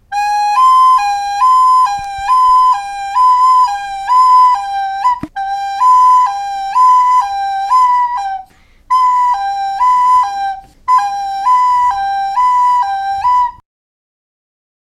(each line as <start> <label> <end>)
0.1 Police car siren made with flute 13.6